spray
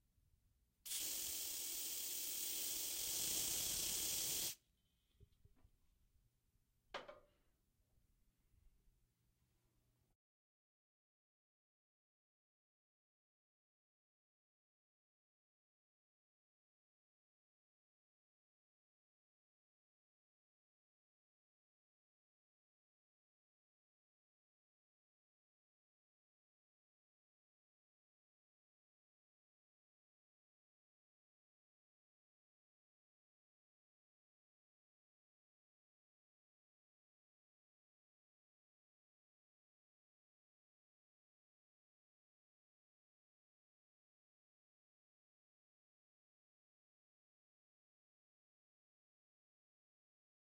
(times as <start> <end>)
0.9 4.6